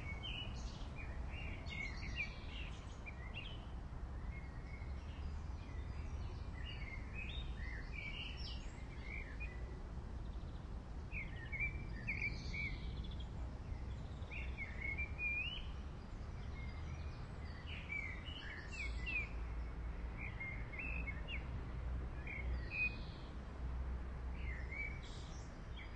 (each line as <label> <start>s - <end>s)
birds 0.0s - 21.5s
birds 24.4s - 25.9s